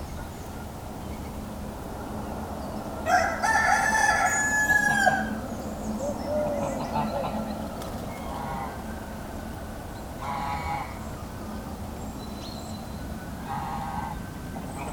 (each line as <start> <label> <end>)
3.0 rooster 5.4
3.1 Chicken 9.4
10.2 Chicken 11.0